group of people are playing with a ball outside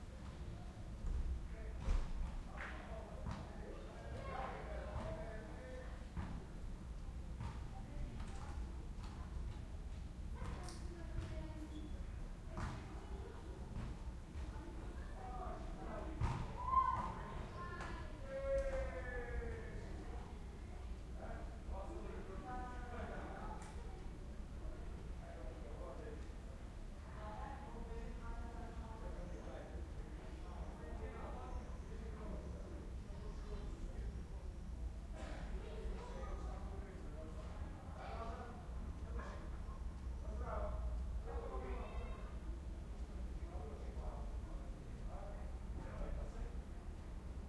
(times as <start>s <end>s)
16.1s 20.0s